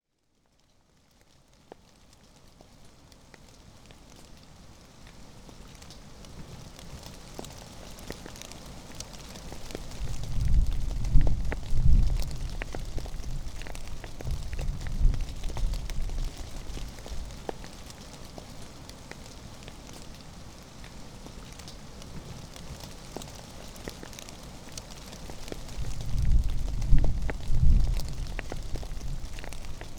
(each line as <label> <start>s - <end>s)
Rain 0.2s - 29.9s